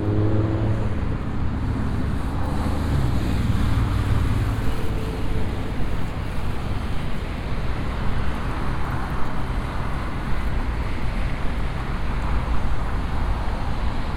heavy traffic 0:00.0 - 0:14.1

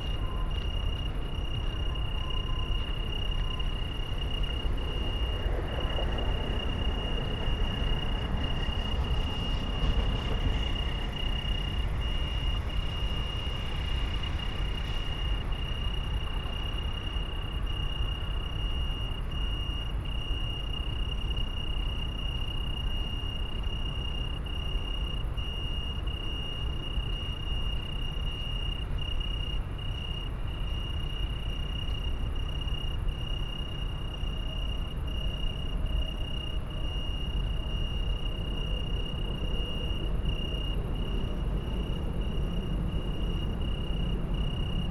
trains passing 0:01.6 - 0:14.6

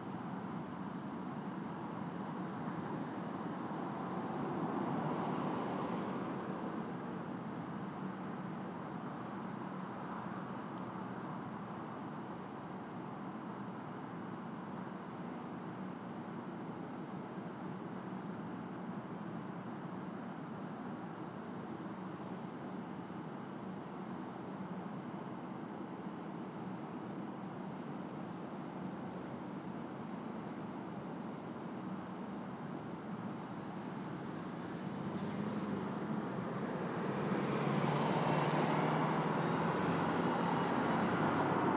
Cars 0:00.1 - 0:12.2
Cars 0:32.8 - 0:41.7

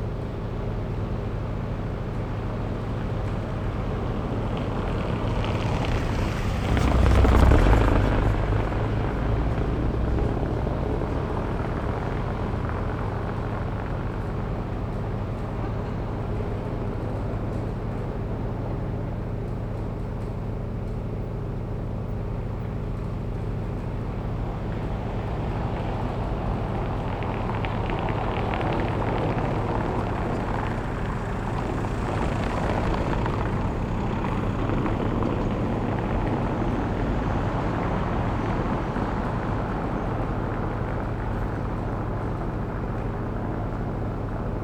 generator at a construction site of a combined sewer 0:00.0 - 0:44.6

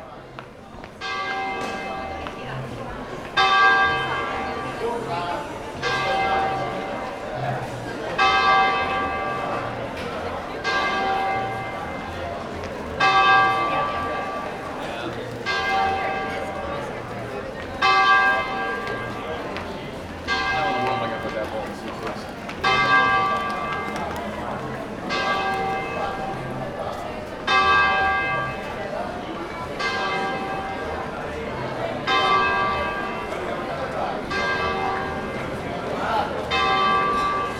bustling with people 0:00.0 - 0:37.5
walking along the main street 0:00.0 - 0:37.5

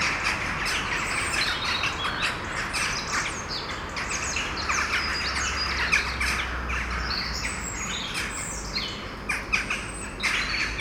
blackbird sing very near the recorder 0:00.0 - 0:10.8

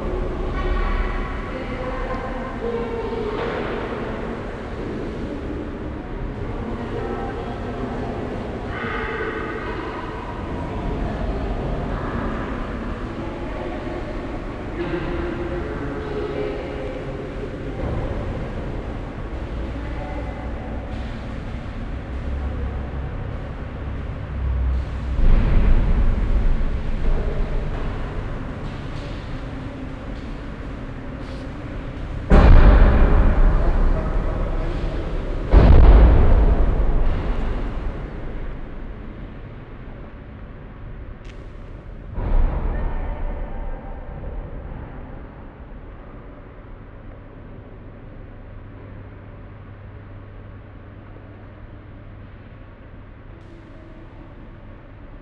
steps 0:00.0 - 0:38.9
deep resonating sound of car motors in the distant 0:00.0 - 0:55.2

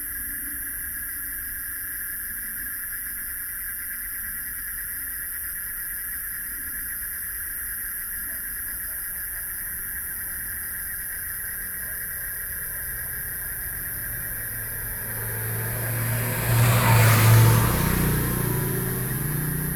Frogs sound 0:08.8 - 0:19.7
Traffic Sound 0:10.2 - 0:19.7

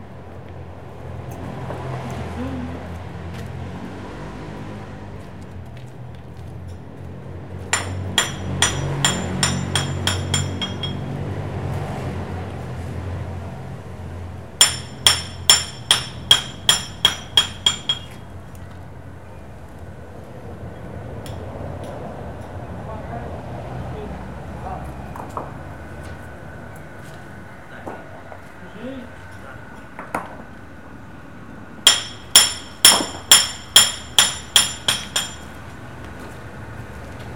repair 0:07.7 - 0:11.1
repair 0:14.6 - 0:18.3
repair 0:31.9 - 0:35.6

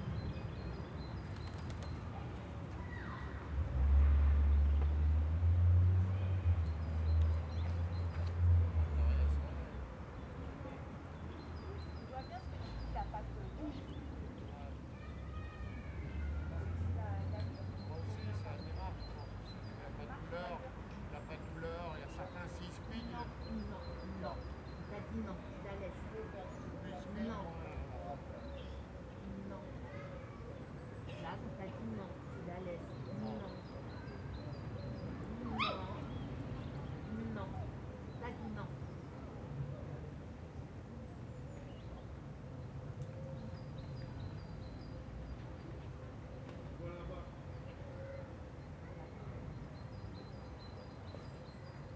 Dog walkers talking to their dogs 0:06.0 - 0:42.2

